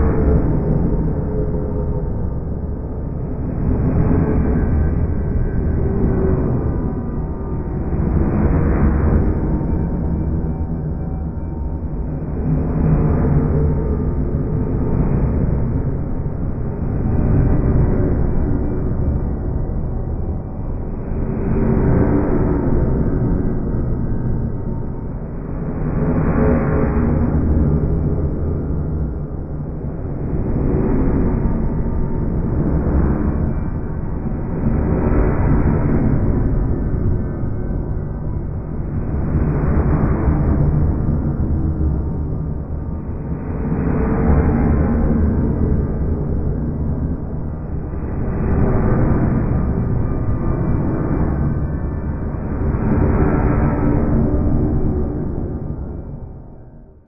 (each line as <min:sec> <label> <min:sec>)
0:00.0 underground noises 0:57.0